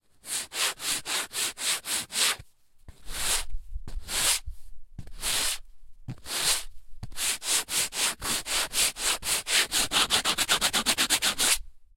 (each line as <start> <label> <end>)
0.2 sand paper 2.4
3.0 sand paper 4.4
5.1 sand paper 5.6
6.2 sand paper 11.6